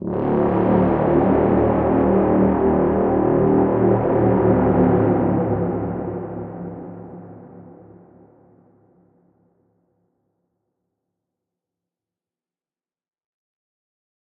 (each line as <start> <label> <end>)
0.0 Horn 7.8